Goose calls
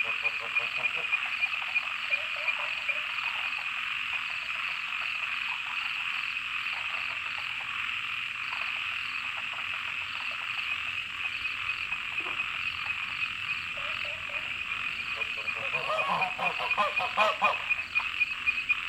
0.0 1.4, 12.0 18.8

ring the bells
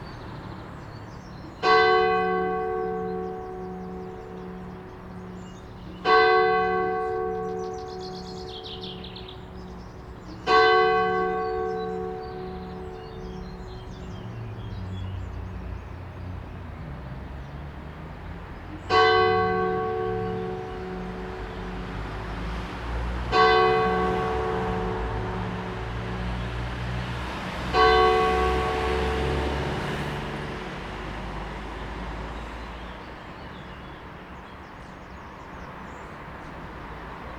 18.9 31.4

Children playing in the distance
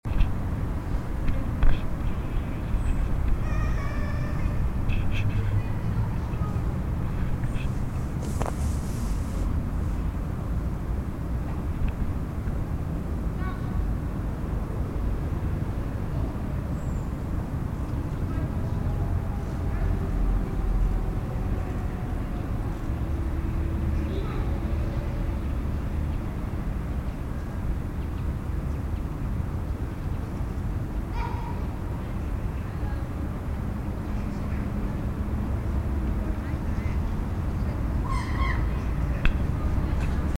2.8 7.7

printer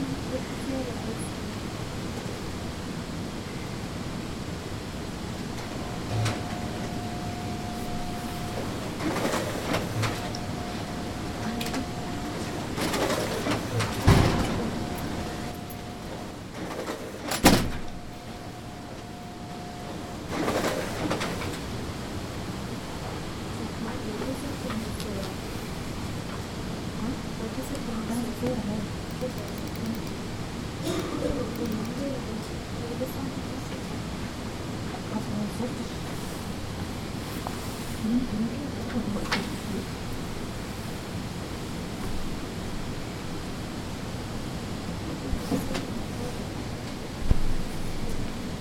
5.5 22.0

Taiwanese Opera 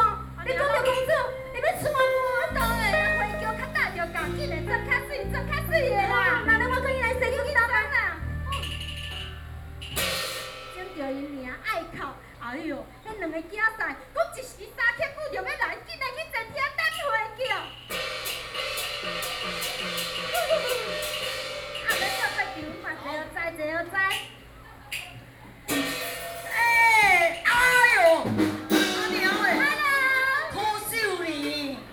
0.0 10.8, 18.0 23.2

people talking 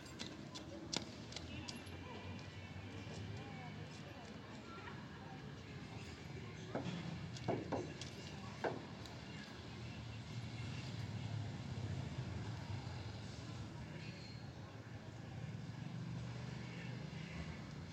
0.4 7.1

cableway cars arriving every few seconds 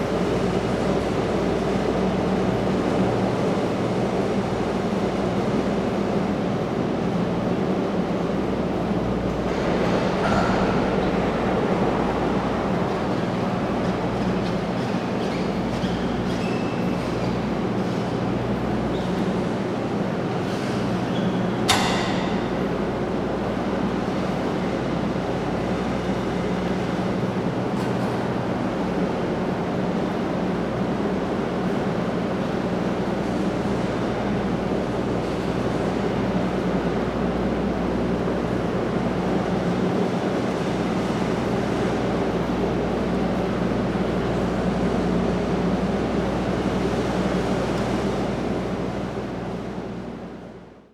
7.4 20.4

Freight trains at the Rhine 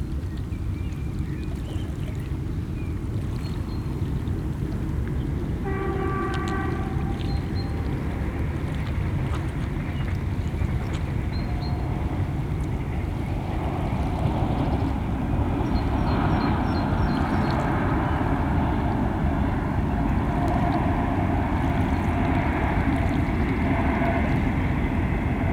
10.6 16.7

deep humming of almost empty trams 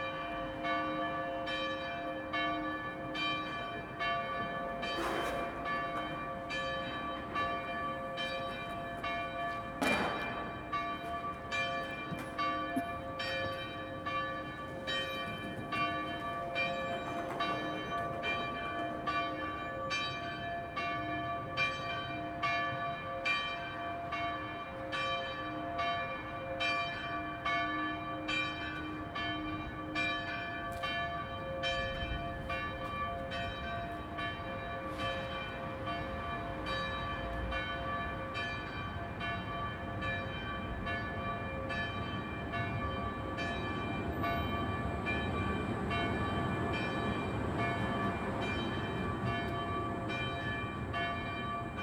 2.2 20.0, 30.6 51.8

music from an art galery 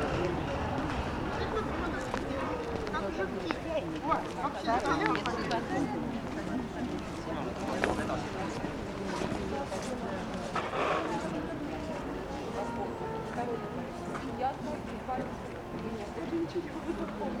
11.5 17.4

